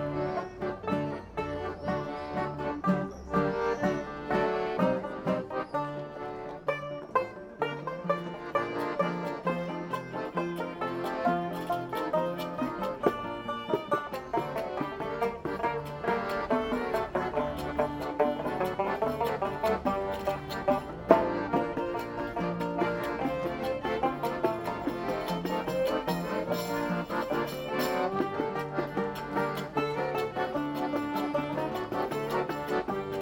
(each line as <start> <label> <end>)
0.0 klezmer like sounds 33.2